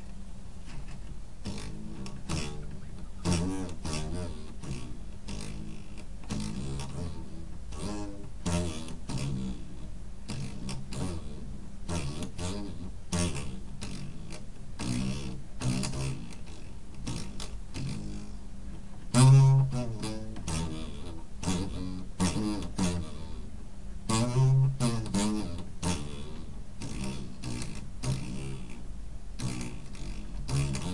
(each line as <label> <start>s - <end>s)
homemade wall cubby guitar thingy 0.0s - 30.9s
me standing up from my chair 0.6s - 1.2s